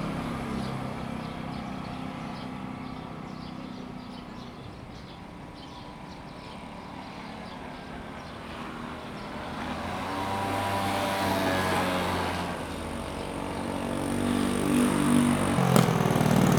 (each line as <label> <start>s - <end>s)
Traffic sound 12.8s - 16.5s